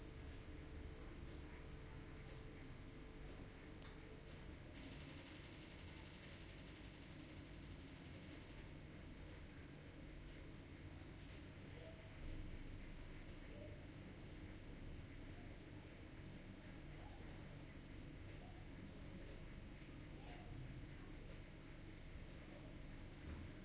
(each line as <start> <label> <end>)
0.0 room tone 23.6